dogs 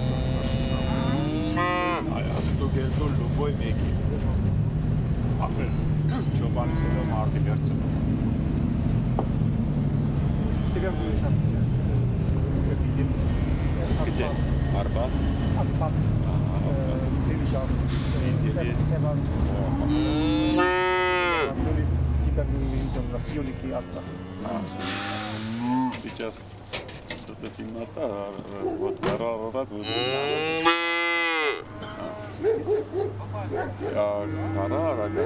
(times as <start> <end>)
25.6 29.6, 31.7 35.2